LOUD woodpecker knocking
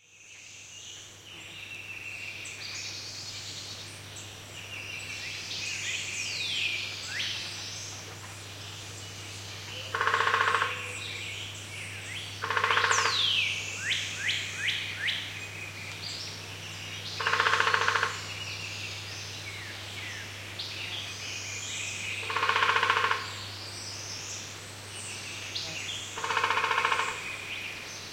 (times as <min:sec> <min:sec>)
0:09.8 0:10.9, 0:12.4 0:13.5, 0:17.2 0:18.3, 0:22.2 0:23.4, 0:26.2 0:27.3